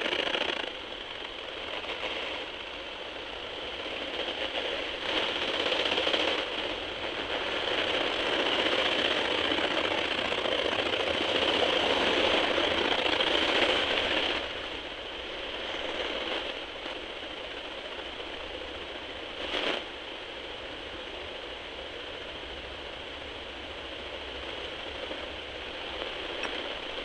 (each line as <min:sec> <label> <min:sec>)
0:07.6 grasshoppers chirping 0:14.7